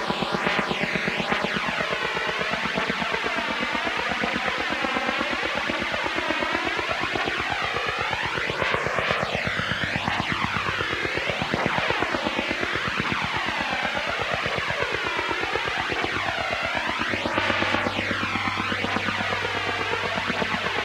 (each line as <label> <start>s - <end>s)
White noise with flanger 7.4s - 20.8s